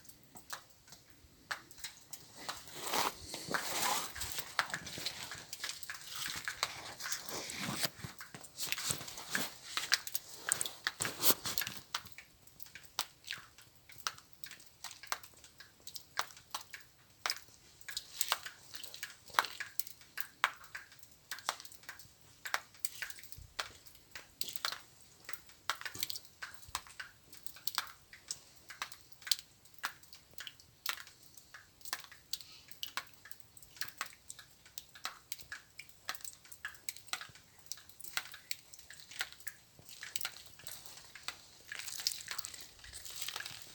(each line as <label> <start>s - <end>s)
light rain 0.0s - 43.7s
Walking inside 0.4s - 12.0s